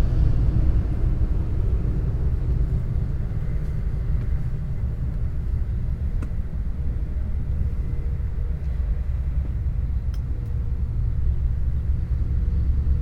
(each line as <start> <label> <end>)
0.0 trucks 13.0